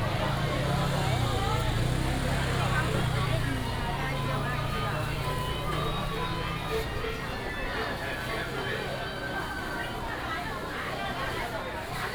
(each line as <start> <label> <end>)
0.0 traffic sound 10.2
0.0 Walking in the traditional market 12.1